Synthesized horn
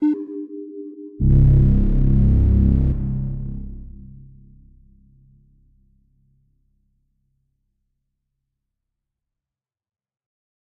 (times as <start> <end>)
0.0 5.1